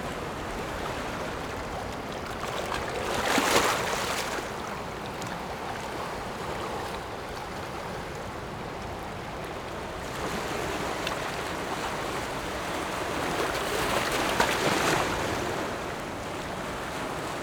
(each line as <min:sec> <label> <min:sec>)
0:00.0 waves 0:17.4